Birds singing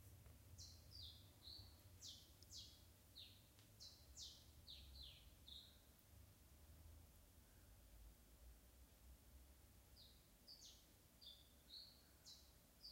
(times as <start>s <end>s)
0.6s 5.9s, 10.0s 12.9s